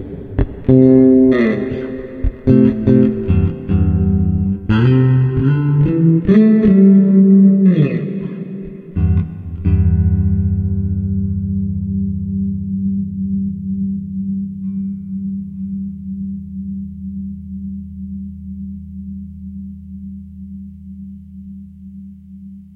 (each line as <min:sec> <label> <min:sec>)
0:00.0 bass guitar 0:22.7